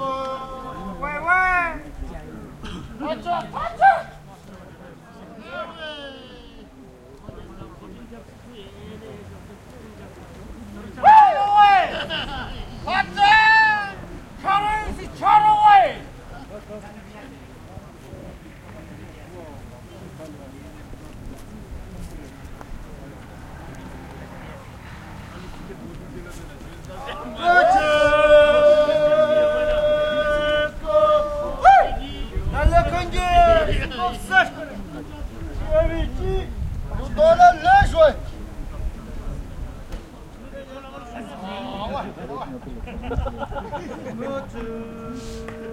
singing songs of encouragement 0:00.0 - 0:02.8
jokes and lewd stories 0:11.6 - 0:13.1
singing songs of encouragement 0:26.7 - 0:33.8
singing songs of encouragement 0:42.8 - 0:45.7

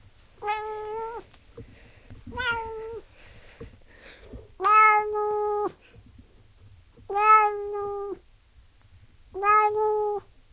whiney meow 0:00.4 - 0:01.2
whiney meow 0:02.4 - 0:03.0
whiney meow 0:04.6 - 0:05.8
whiney meow 0:07.1 - 0:08.2
whiney meow 0:09.4 - 0:10.3

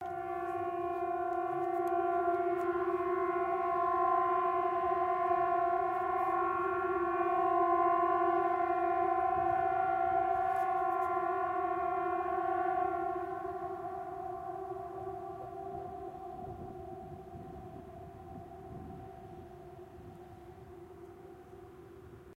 Warning Siren 0:00.0 - 0:22.3

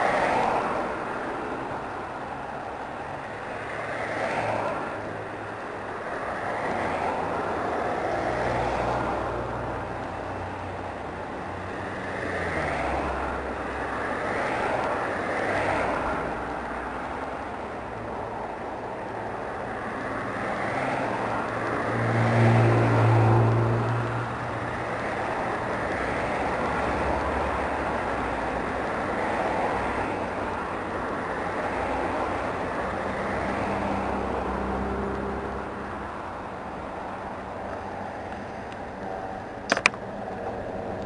traffic 0:00.0 - 0:41.0

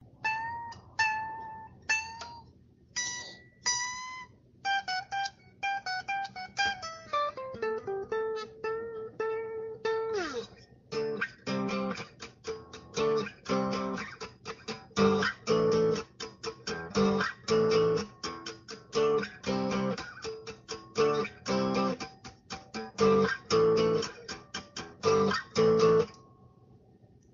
acoustic guitar 0:00.2 - 0:26.2

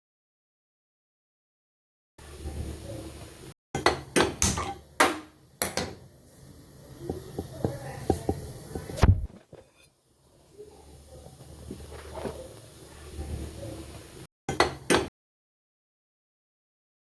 Igniting an Indian gas stove using a traditional gas lighter 0:04.1 - 0:14.2

